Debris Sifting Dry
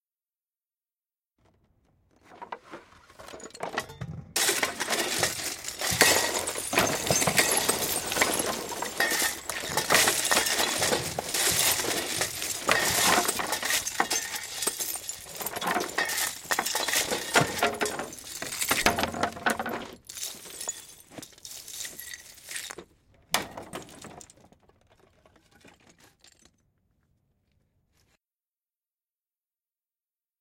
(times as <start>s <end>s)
4.4s 22.9s